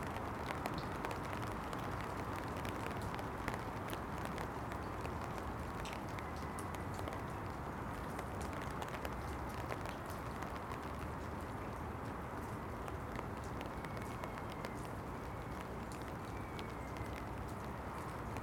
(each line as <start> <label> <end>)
0.0 The rain falls 18.4